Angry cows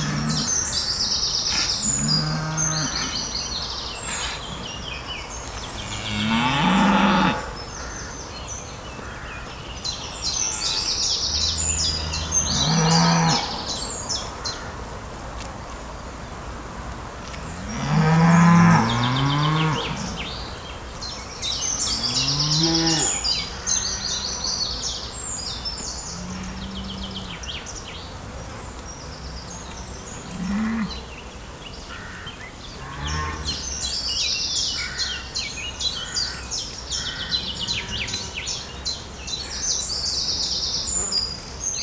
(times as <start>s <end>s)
0.0s 8.1s, 29.7s 31.1s